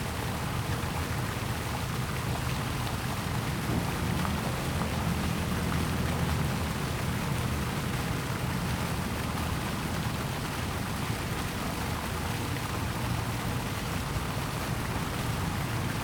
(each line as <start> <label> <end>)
0.0 fountain 16.0